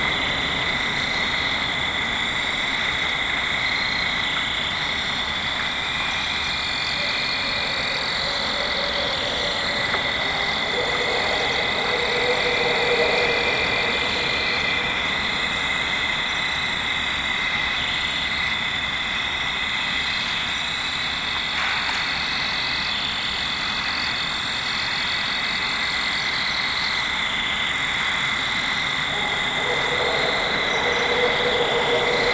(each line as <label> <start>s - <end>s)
fall field crickets 0.0s - 32.3s
wind 0.0s - 32.3s
Barred owls calling 6.9s - 16.1s
Barred owls calling 29.1s - 32.3s